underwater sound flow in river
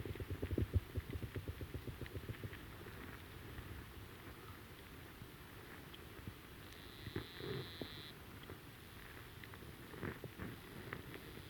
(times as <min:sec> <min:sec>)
0:00.0 0:03.6